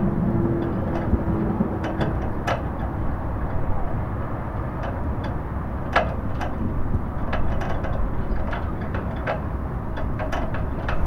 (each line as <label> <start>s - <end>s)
moving of the flag on the pole 0.4s - 11.0s